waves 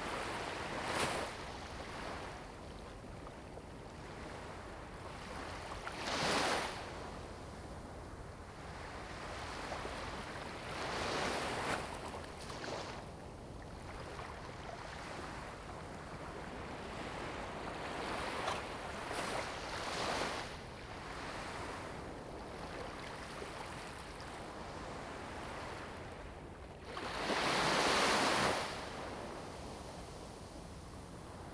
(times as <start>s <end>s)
8.4s 31.5s